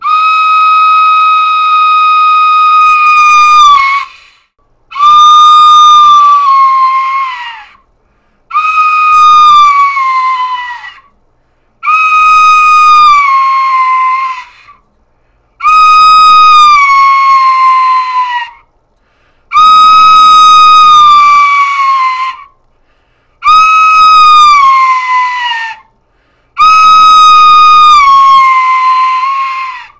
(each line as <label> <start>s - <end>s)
recorder imitating a woman screaming 1.6s - 4.1s
recorder imitating a woman screaming 5.0s - 7.7s
recorder imitating a woman screaming 15.7s - 18.6s
recorder imitating a woman screaming 19.6s - 22.4s
recorder imitating a woman screaming 23.5s - 25.8s
recorder imitating a woman screaming 26.6s - 29.9s